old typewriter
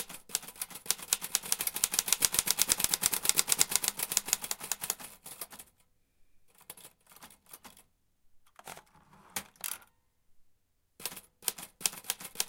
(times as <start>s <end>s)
0.0s 5.7s, 6.5s 7.8s, 11.0s 12.4s